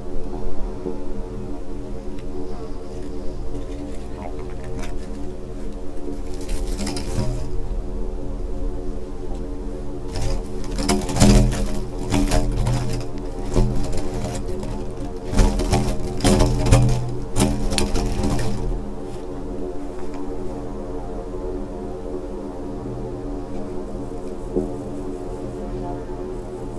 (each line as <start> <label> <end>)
0.0 wind 26.7
0.0 leaves 8.2
2.1 sand and tiny stones 7.8
2.9 broken reflector 7.6
8.9 leaves 21.0
10.0 sand and tiny stones 19.9
10.1 broken reflector 19.3